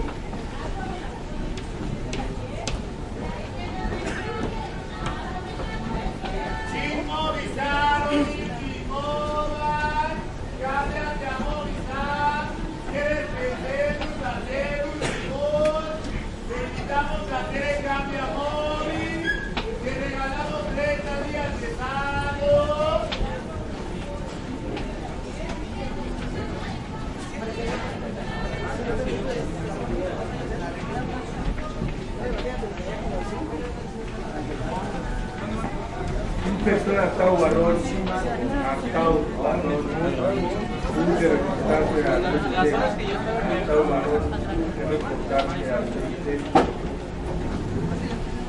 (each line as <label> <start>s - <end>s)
Big crowd walking 0.0s - 48.4s